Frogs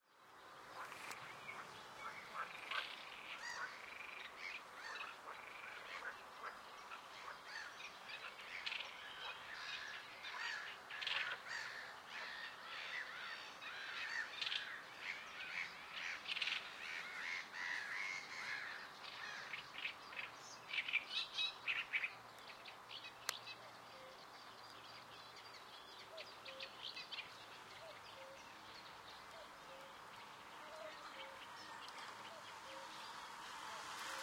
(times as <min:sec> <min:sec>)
0:00.6 0:21.1